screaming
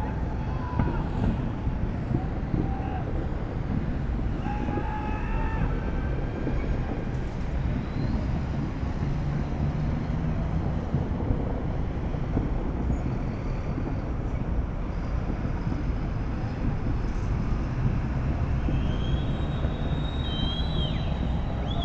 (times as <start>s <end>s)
0.0s 1.3s, 2.6s 3.1s, 4.3s 6.3s, 18.8s 21.8s